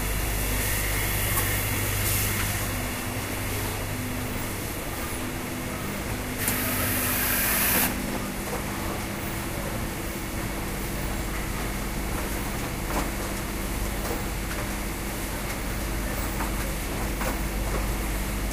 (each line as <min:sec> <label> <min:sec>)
0:00.0 industrial assembling machines 0:09.7